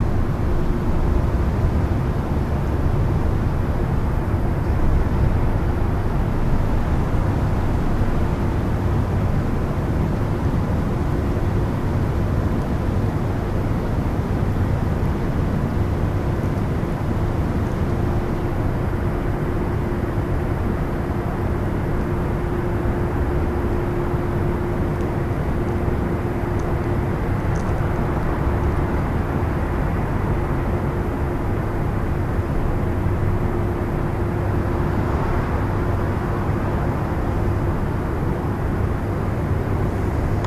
0.0s traffic 40.4s

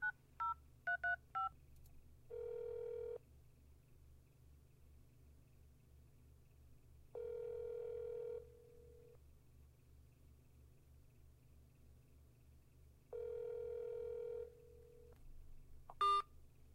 2.3s Phone dialing 3.2s
7.2s Phone dialing 8.4s
13.2s Phone dialing 14.4s

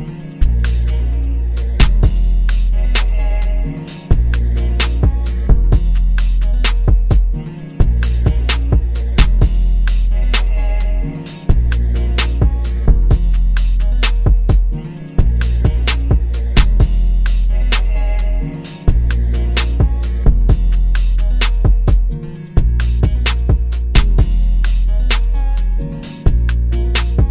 0.0s bass 27.3s
0.0s guitar 27.3s
1.8s snare 3.2s
4.8s snare 5.1s
6.2s snare 7.0s
6.8s kicks 9.6s
8.0s snare 10.6s
12.2s snare 12.5s
13.6s snare 14.3s
14.2s kicks 17.0s
15.4s snare 18.0s
19.6s snare 20.2s
21.0s snare 27.3s
21.6s kicks 24.4s

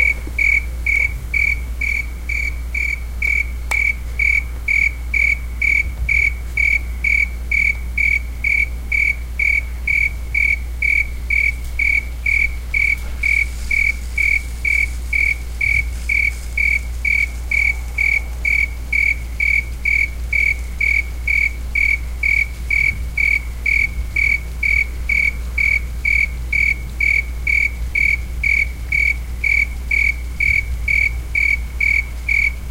0.0s cricket 32.7s

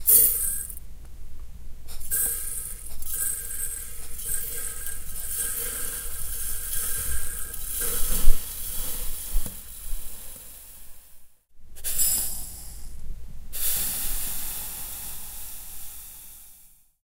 0.0s Salt poured into metal and glass receptacles 0.8s
1.9s Salt poured into metal and glass receptacles 11.2s

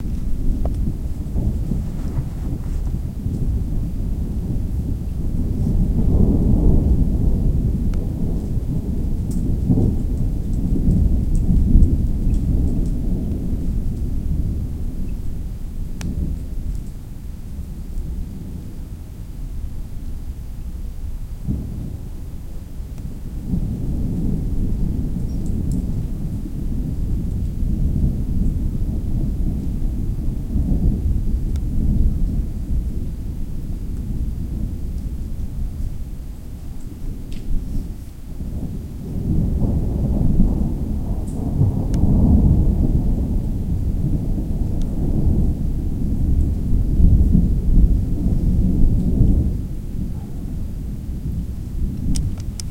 0.0s Gentle rain 52.7s
0.0s non-stop thunders 52.7s

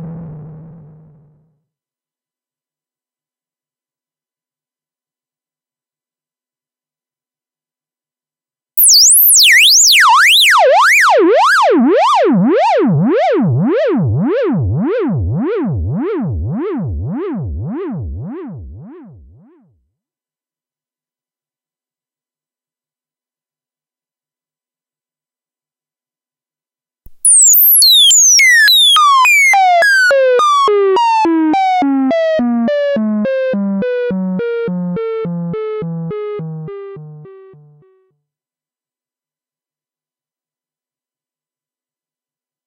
8.8s bleeps and sweeps 10.2s
27.1s bleeps and sweeps 29.6s

